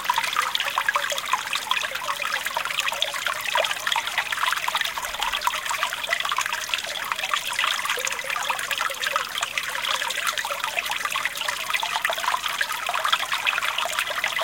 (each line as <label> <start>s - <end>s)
babbling brook 0.0s - 14.4s